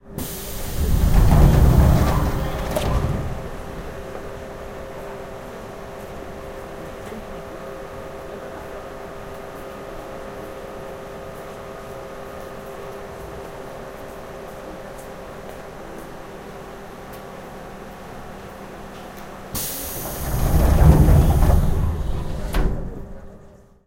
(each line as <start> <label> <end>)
0.2 Information doors open close in Korean 4.2
0.2 Metro doors open close 5.4
19.6 Information doors open close in Korean 23.4
19.6 Metro doors open close 23.7